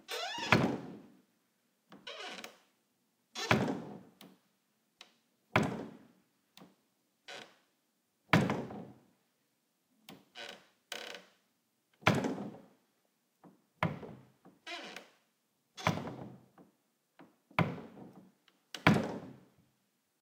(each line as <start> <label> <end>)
0.1 Door - open and close without latch 1.0
1.9 Door - open and close without latch 2.6
3.4 Door - open and close without latch 4.4
5.6 Door - open and close without latch 6.0
12.0 Door - open and close without latch 12.6
15.8 Door - open and close without latch 16.4
17.6 Door - open and close without latch 19.4